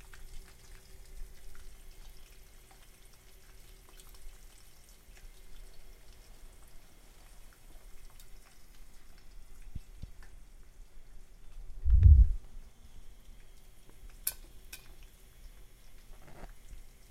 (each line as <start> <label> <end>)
14.0 popcorn popping in a metal pot on an open burner 15.1